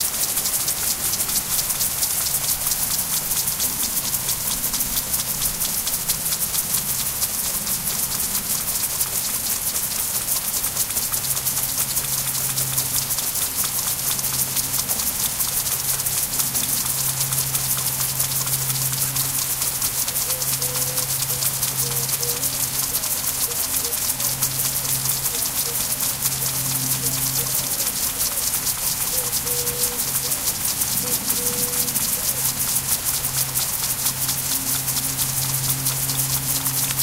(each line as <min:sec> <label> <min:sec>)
0:00.0 Impact sprinklers irrigating .6 m tall potato plants 0:37.0